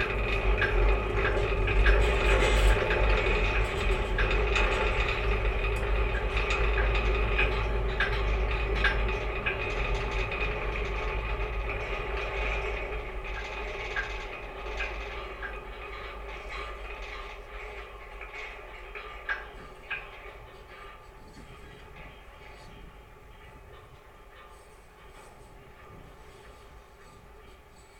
guide wires of the small pedestrian suspension bridge 0:00.0 - 0:27.9

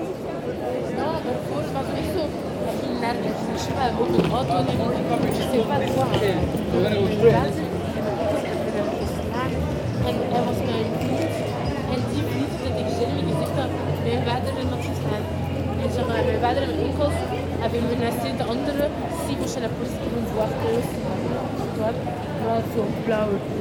walkers 0:03.4 - 0:07.8

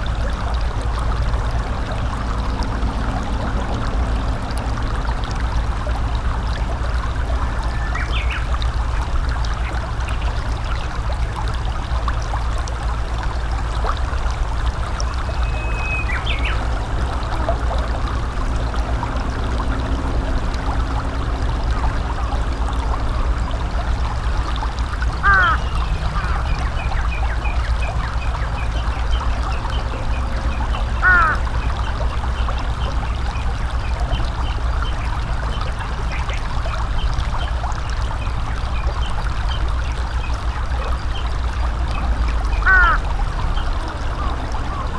aircraft 0:00.0 - 0:39.4
small rapids 0:00.0 - 0:44.9
Japanese bush warbler 0:07.5 - 0:08.6
Japanese bush warbler 0:15.1 - 0:16.6
crow 0:25.2 - 0:26.5
crow 0:31.0 - 0:31.4
aircraft 0:40.0 - 0:44.9
crow 0:42.6 - 0:43.0

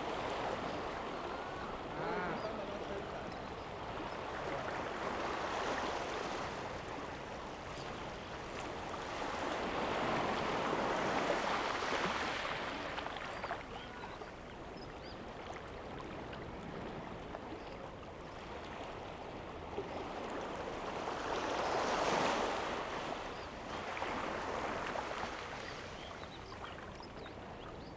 waves 0:00.0 - 0:27.9
Birdsong 0:00.6 - 0:04.4

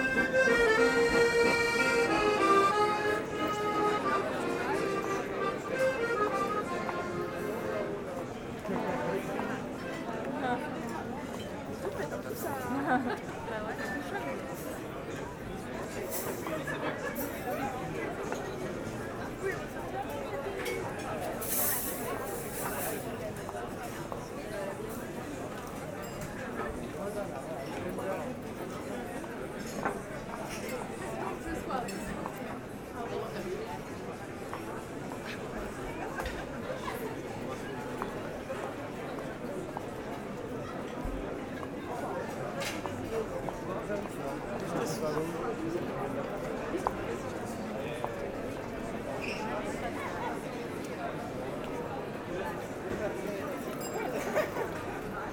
local concert 0:00.0 - 0:08.0
Happy people 0:00.0 - 0:10.6
Happy people 0:53.5 - 0:55.1

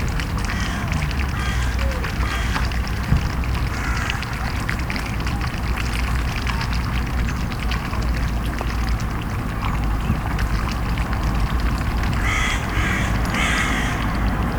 Distant traffic 0:00.0 - 0:14.5
Juveline swans lapping water in the canal 0:00.0 - 0:14.5
Crow calls 0:00.5 - 0:02.6
Crow calls 0:12.2 - 0:14.3

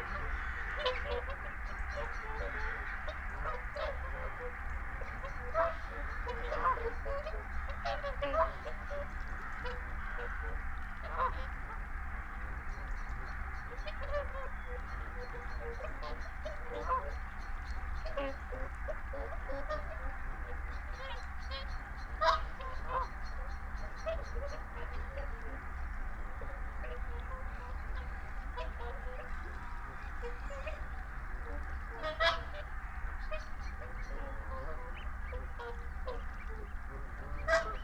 barnacle geese flyover 0:00.0 - 0:37.8
blackbird 0:00.0 - 0:37.8
mallard 0:00.0 - 0:37.8

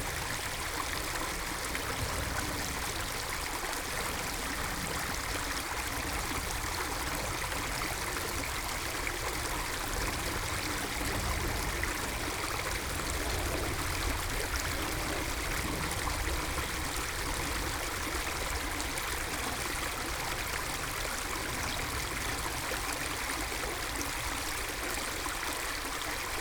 small stream, water flow 0:00.0 - 0:26.4

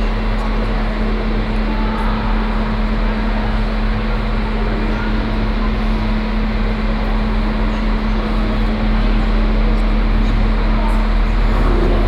trains passing by or entering the station 0:00.0 - 0:12.0

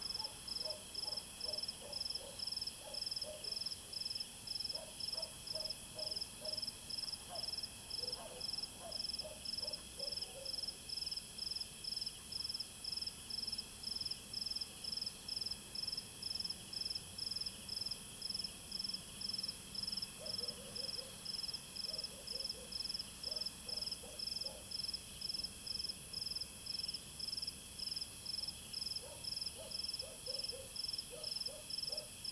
Insect noise 0:00.0 - 0:32.3
Dog barking 0:00.1 - 0:03.6
Dog barking 0:04.7 - 0:10.7
Dog barking 0:20.2 - 0:21.2
Dog barking 0:21.9 - 0:24.7
Dog barking 0:29.0 - 0:32.2

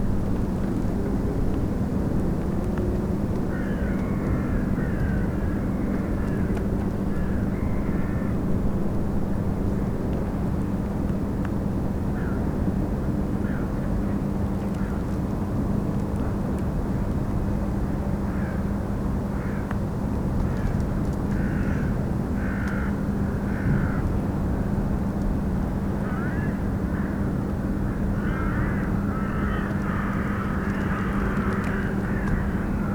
crows 0:03.5 - 0:08.4
crows 0:12.2 - 0:12.5
crows 0:13.4 - 0:13.8
crows 0:18.3 - 0:18.7
crows 0:19.3 - 0:19.7
crows 0:20.4 - 0:24.1
crows 0:26.0 - 0:32.9
cracking ice of the frozen spree river 0:29.4 - 0:32.9

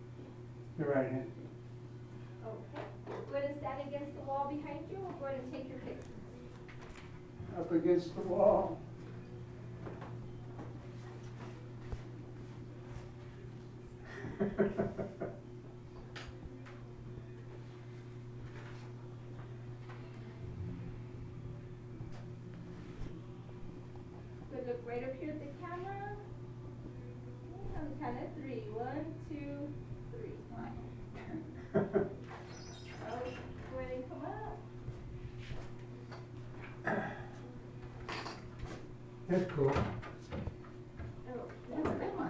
office biz talk 0:39.3 - 0:40.0

